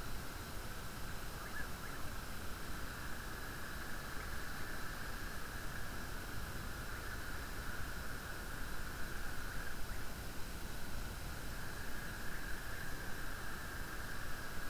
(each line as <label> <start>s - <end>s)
Wind 0.0s - 14.6s
frogs 1.3s - 2.2s
frogs 11.5s - 14.6s